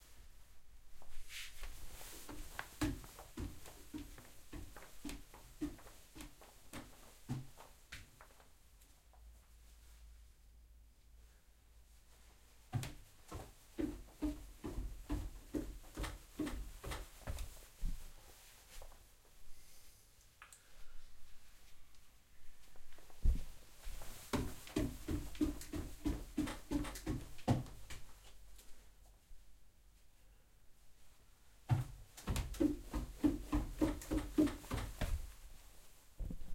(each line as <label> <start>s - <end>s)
walking 1.6s - 8.4s